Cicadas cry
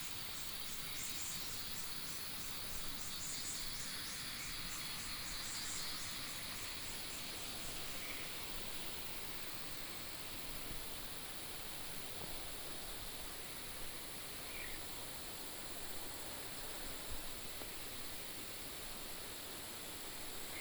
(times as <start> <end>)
0.0 8.9, 14.4 14.9